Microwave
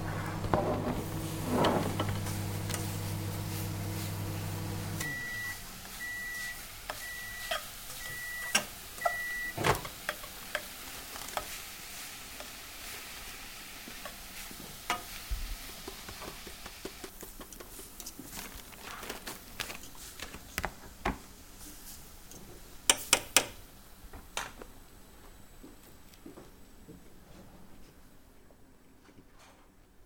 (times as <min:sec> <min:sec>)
0:00.0 0:11.5